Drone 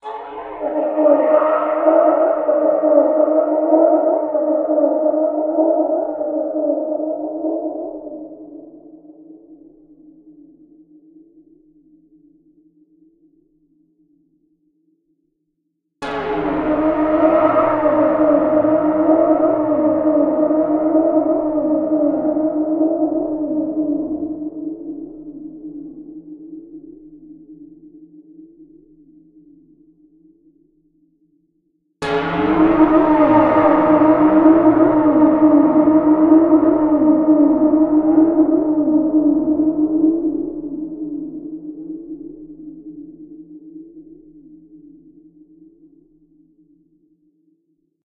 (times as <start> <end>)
0.0 9.1, 16.0 26.3, 32.0 44.0